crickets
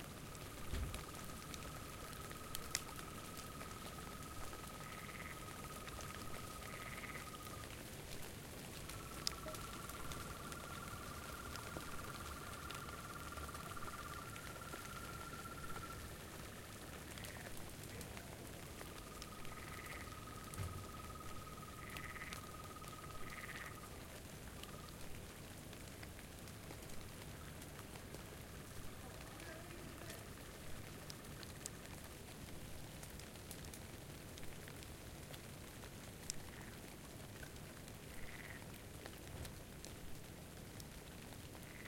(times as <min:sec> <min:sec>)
0:00.2 0:07.8, 0:08.8 0:25.1, 0:41.6 0:41.8